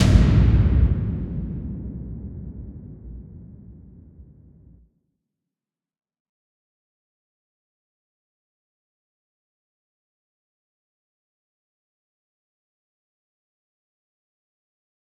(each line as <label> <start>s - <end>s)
Drum Hit 0.0s - 4.7s